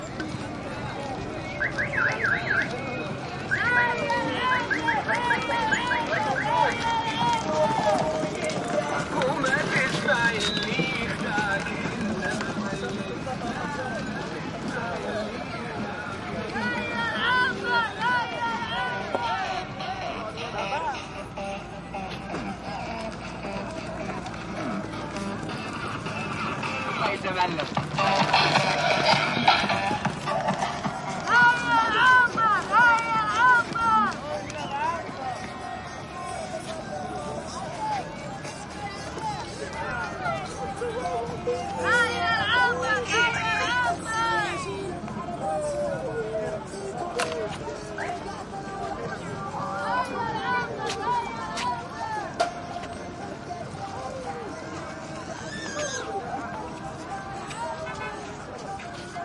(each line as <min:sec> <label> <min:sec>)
0:00.0 cars 0:59.2
0:00.0 light crowd 0:59.2
0:17.2 blasting arabic pop music 0:34.2
0:19.8 throaty mopeds 0:34.3